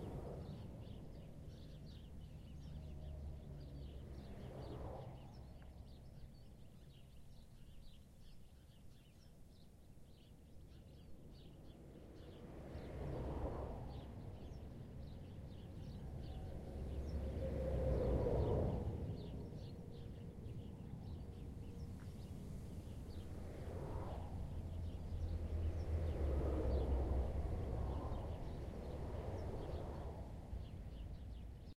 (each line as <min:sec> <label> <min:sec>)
0:00.0 Traffic of highway listened from under 0:08.0
0:11.4 Traffic of highway listened from under 0:31.7